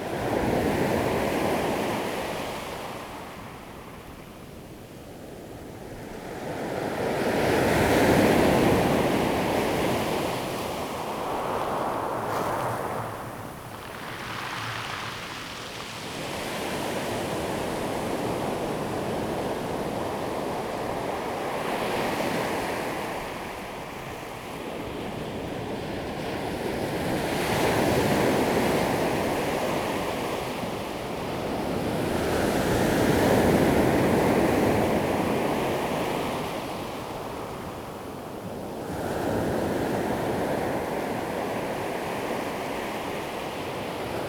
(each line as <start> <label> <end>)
6.8 waves 44.2